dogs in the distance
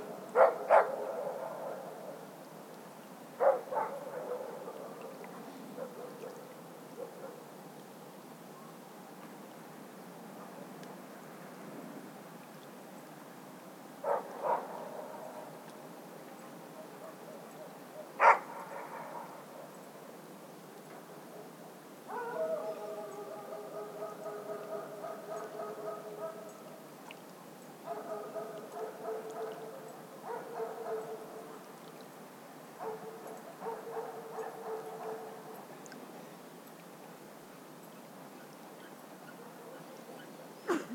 0:00.4 0:02.2, 0:03.4 0:07.5, 0:14.0 0:15.5, 0:16.7 0:19.8, 0:22.1 0:26.6, 0:27.8 0:31.7, 0:32.8 0:35.6

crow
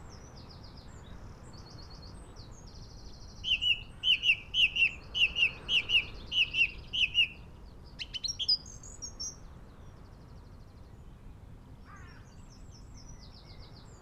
0:11.9 0:12.3

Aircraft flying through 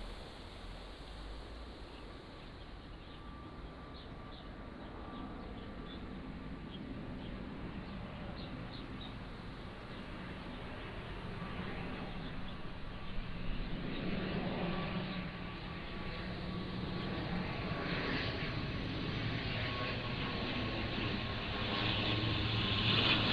0:04.9 0:23.3

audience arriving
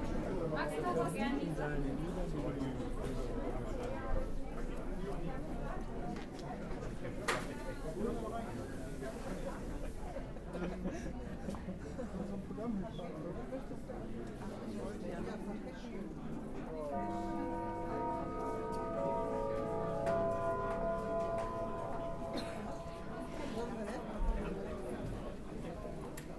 0:16.9 0:25.2

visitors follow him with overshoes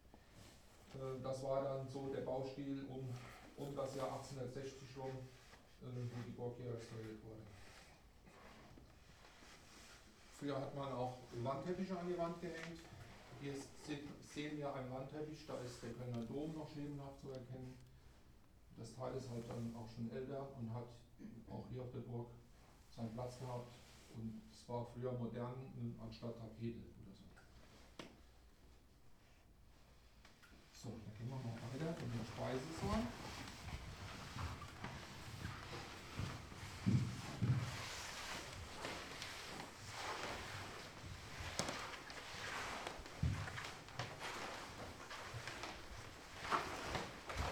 0:31.6 0:47.5

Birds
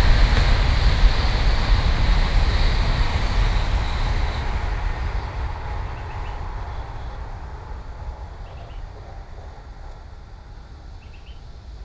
0:08.0 0:09.6

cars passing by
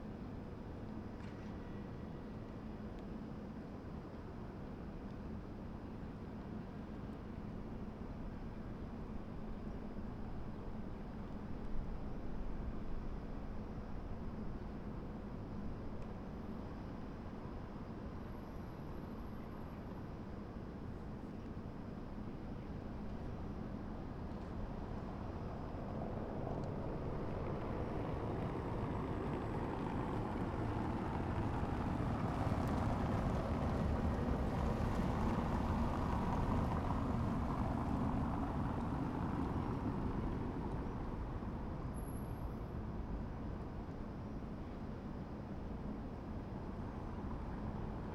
0:24.6 0:42.3

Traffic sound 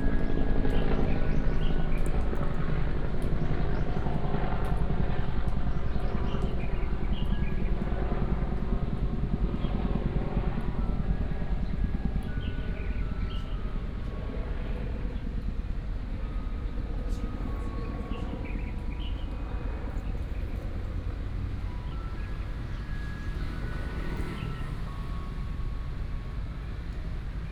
0:16.7 0:27.5

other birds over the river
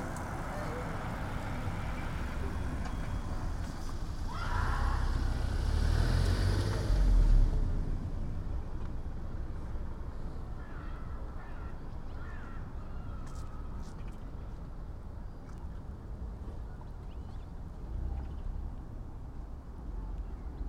0:09.8 0:19.0

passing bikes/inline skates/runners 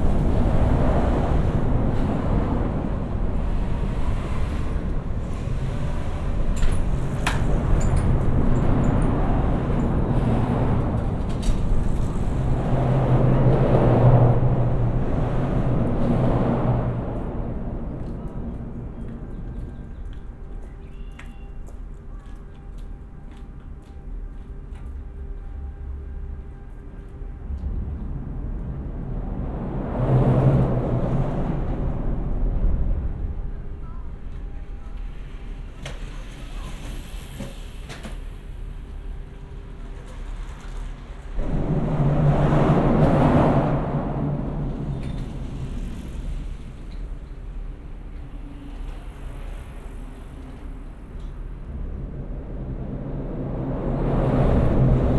0:35.0 0:55.1

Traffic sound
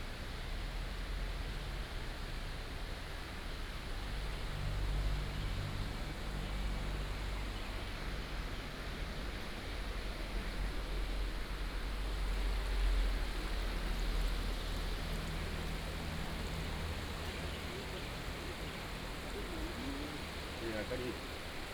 0:09.6 0:21.7

